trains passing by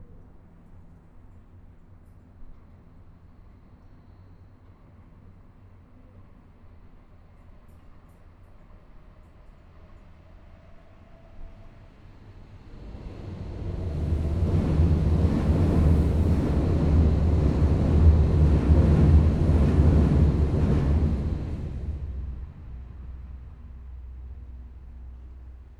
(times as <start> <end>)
10.9 25.5